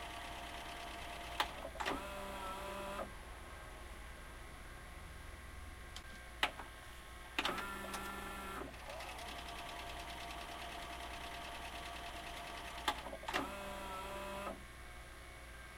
mechanical clicks and whirrs from playing, rewinding VHS 0:00.0 - 0:03.1
mechanical clicks and whirrs from playing, rewinding VHS 0:07.4 - 0:14.6

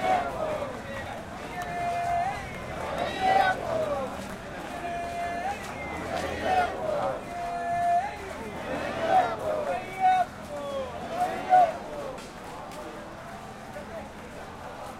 chant 0:00.0 - 0:14.9

